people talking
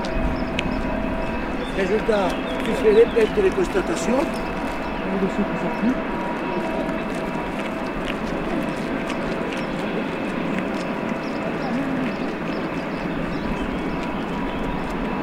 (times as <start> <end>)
1.7 4.4, 5.0 7.1, 11.4 12.4